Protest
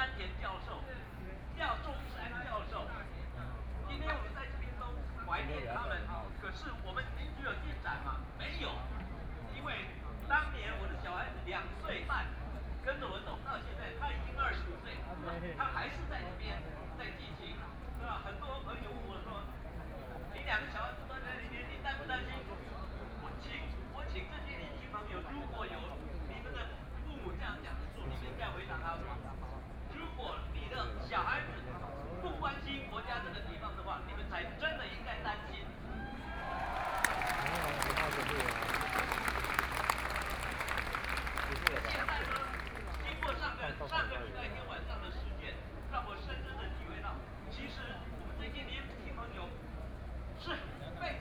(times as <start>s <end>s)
36.2s 43.4s